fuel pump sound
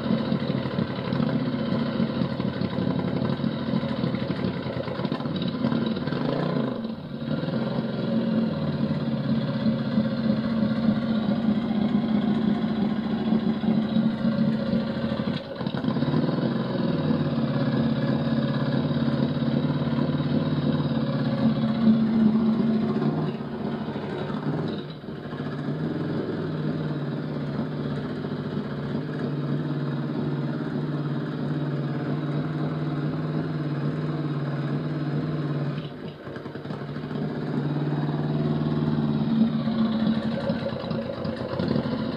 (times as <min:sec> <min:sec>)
0:35.8 0:42.1